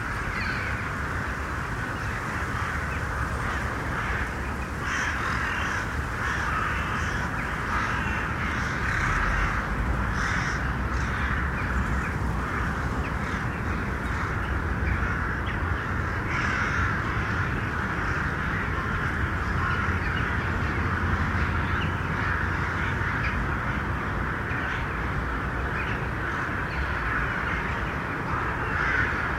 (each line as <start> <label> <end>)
0.0 crows 29.3